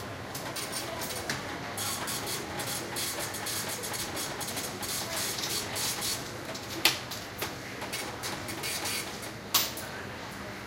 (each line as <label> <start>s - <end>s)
register printing and beeping 1.8s - 6.2s
register printing and beeping 8.0s - 9.2s